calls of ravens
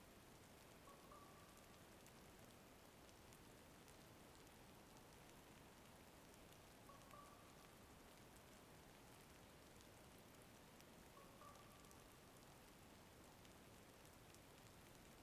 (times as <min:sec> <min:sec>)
0:00.8 0:01.7